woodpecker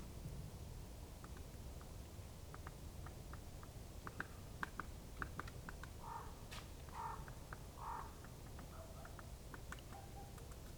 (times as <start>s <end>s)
2.5s 10.7s